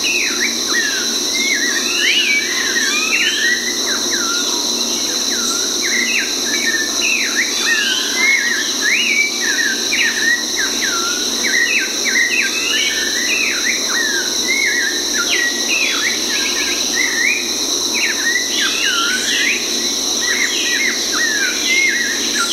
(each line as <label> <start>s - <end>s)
birdsong 5.1s - 22.5s